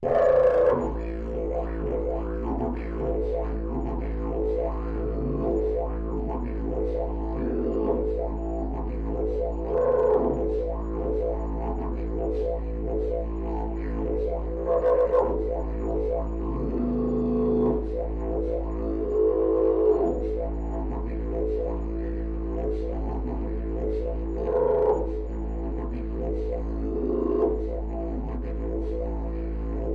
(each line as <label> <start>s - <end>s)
didgeridoo playing the note A 0.0s - 29.9s